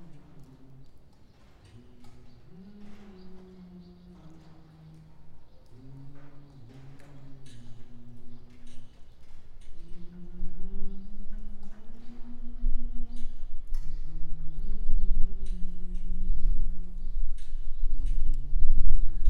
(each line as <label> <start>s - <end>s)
humming some tunes worker's songs 0.0s - 19.2s